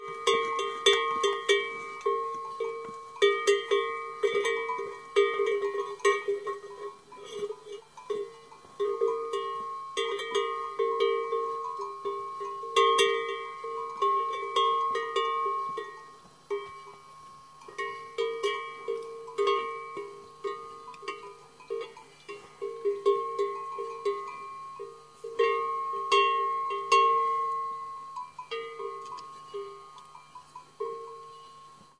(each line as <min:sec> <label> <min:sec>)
0:00.0 cow 0:31.9
0:00.0 bell 0:31.9